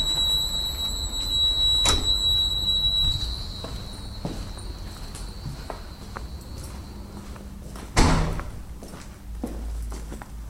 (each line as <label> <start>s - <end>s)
lift 0.0s - 7.1s
door 1.8s - 2.2s
door 8.0s - 8.5s